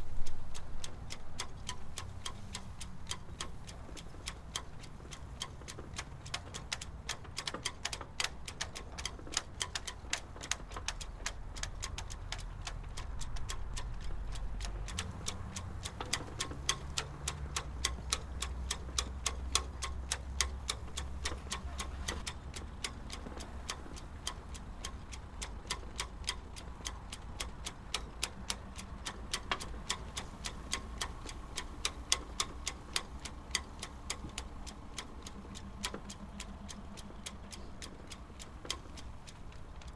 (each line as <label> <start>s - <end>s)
sailing masts in wind 0.0s - 39.9s